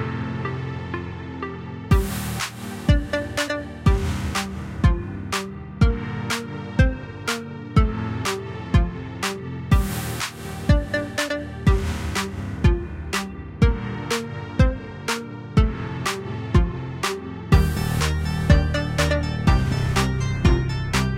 0.0s edm song 21.1s

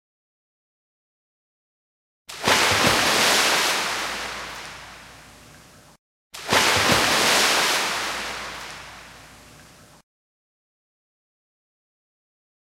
2.3s jump into water splash sound 5.2s
6.4s jump into water splash sound 9.2s

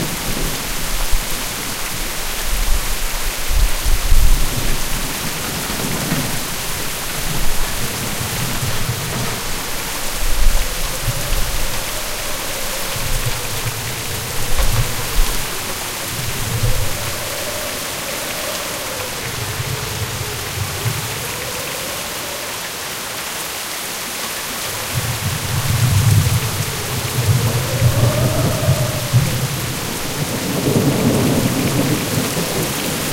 0.0s Rain 33.1s
0.0s Wind 33.1s
24.8s Thunder 33.1s

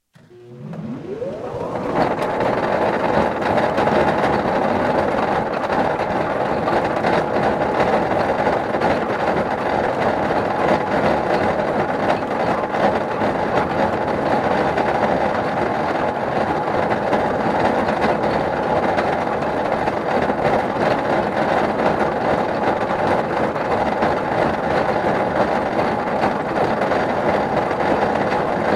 0.2s vintage train-wheel lathe starting up, running and stopping 28.7s

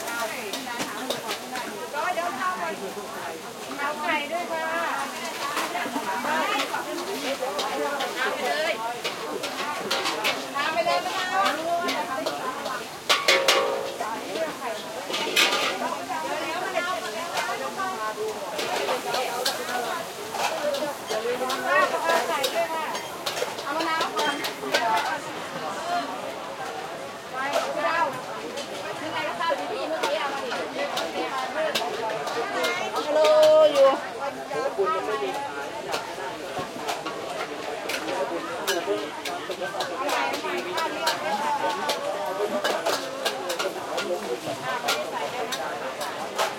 0.0s cooking in wok 46.5s
0.0s voices 46.5s

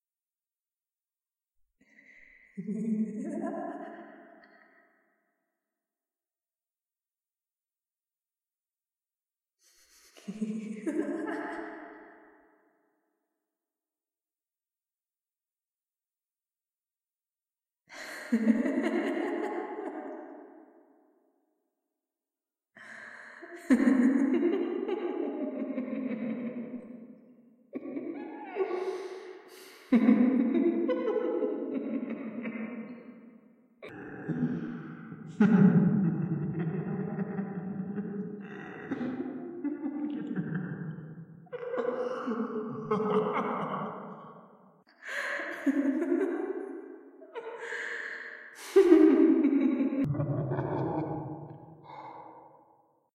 2.6s Insane Women Laughter 4.2s
10.2s Insane Women Laughter 12.2s
18.0s Insane Women Laughter 20.4s
23.6s Insane Women Laughter 26.7s
27.8s Insane Women Laughter 29.2s
29.9s Insane Women Laughter 32.9s
35.3s Insane Women Laughter 38.2s
38.9s Insane Women Laughter 41.0s
41.6s Insane Women Laughter 44.2s
45.1s Insane Women Laughter 51.7s

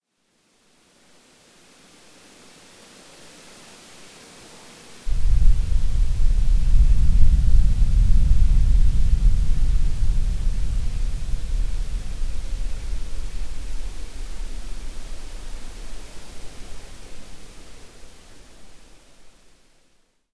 5.1s earthquake 17.6s

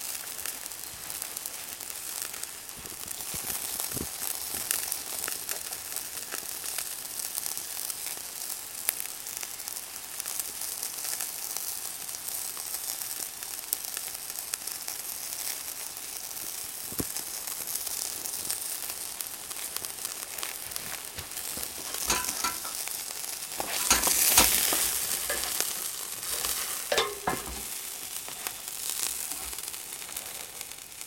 0.0s sausages sizzling on the barbecue 31.0s
21.8s grill tongs clatter 28.1s

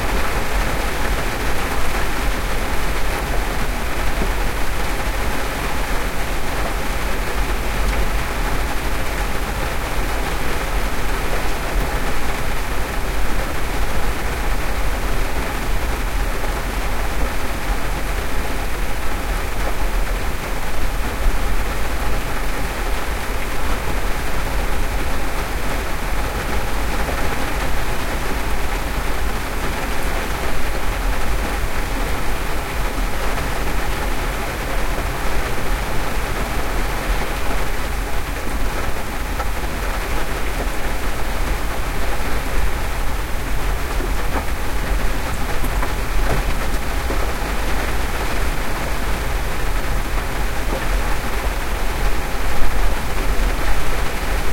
0.0s medium rain 54.5s

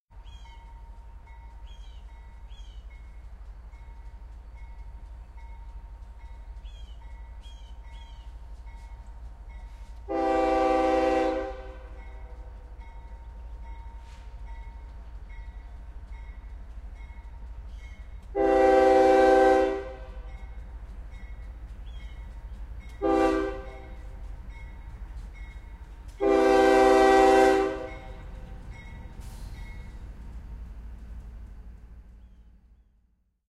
0.1s mating with the rear of a freight train 33.2s
0.1s Diesel Locomotive approaches slowly 33.4s
10.1s Air Horn 12.0s
18.3s Air Horn 20.3s
20.2s bells 23.0s
23.0s Air Horn 23.9s
23.8s bells 26.1s
26.2s Air Horn 28.2s
27.8s bells 32.1s

